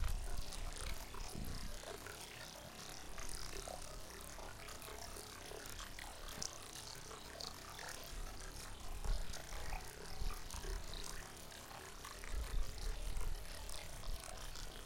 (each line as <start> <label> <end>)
0.0 stream 14.8